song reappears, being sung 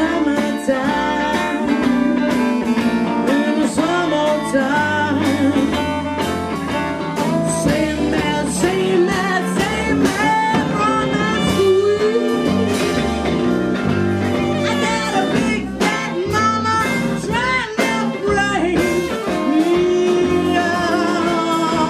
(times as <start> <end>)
14.4 21.8